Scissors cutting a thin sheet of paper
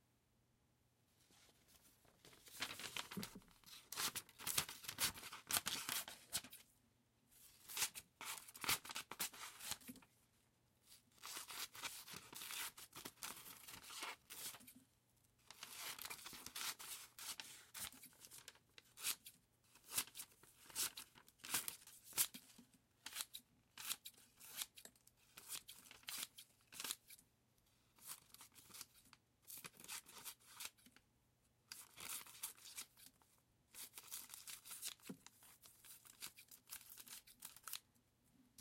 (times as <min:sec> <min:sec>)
0:15.6 0:27.2, 0:35.8 0:37.8